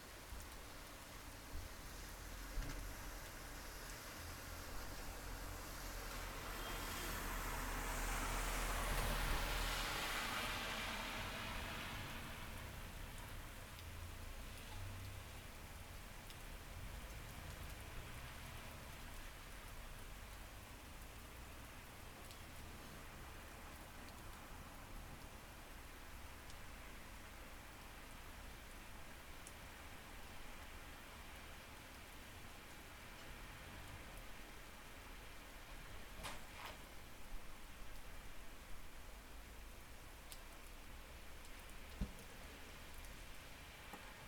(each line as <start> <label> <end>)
0.0 rain 44.2
3.6 cars passing by 13.2